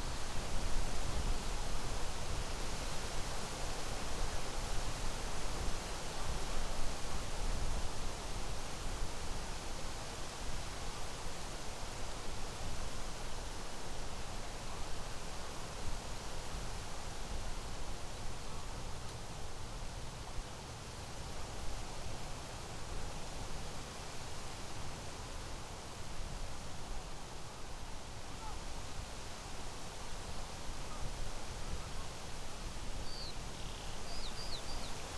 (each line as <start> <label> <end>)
17.2 leaves in wind 35.1